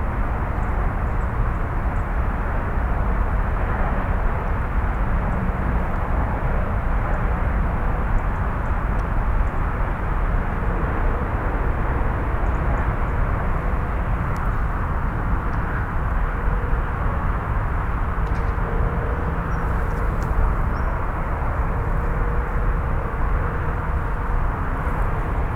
0.0s car and cycle traffic 25.5s

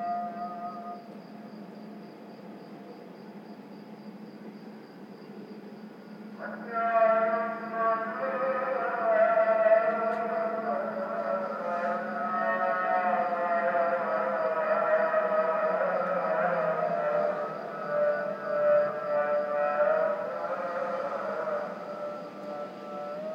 6.4s Muezzin call to prayer 23.3s

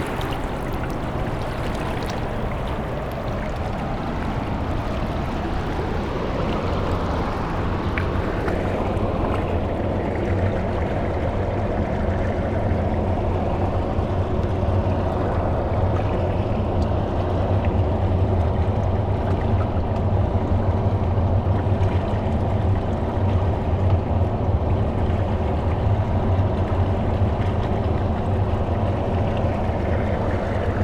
0.0s crushed water flow, rocks 10.0s

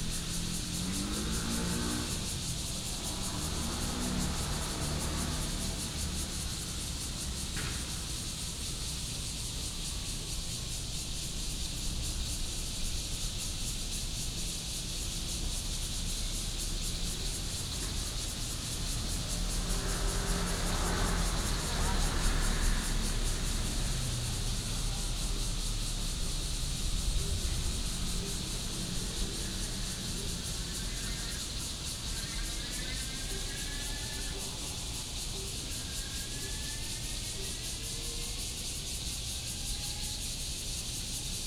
0.0s Traffic Sound 10.8s
0.0s Cicadas cry 41.4s
15.0s Traffic Sound 41.0s

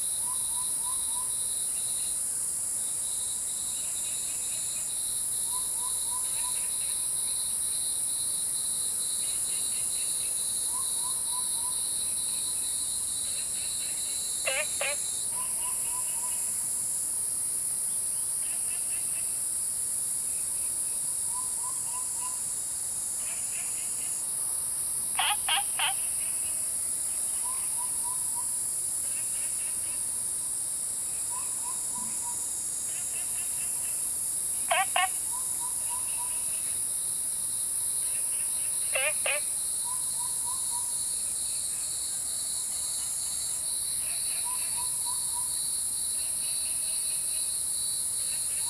0.0s Insects sounds 48.6s
0.0s Cicadas called 48.6s
14.4s Frogs chirping 16.5s
25.1s Frogs chirping 26.4s
34.6s Frogs chirping 36.6s
38.1s Frogs chirping 41.0s

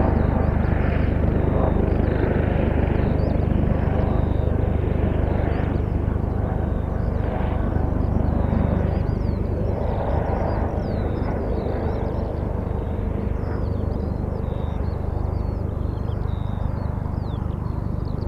0.0s police helicopter 18.2s
5.3s birds 18.2s

